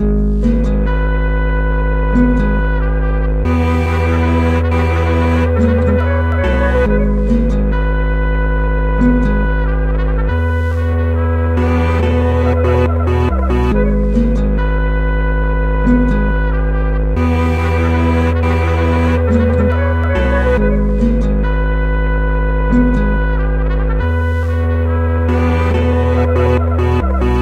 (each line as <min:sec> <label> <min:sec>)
0:00.0 guitare 0:27.4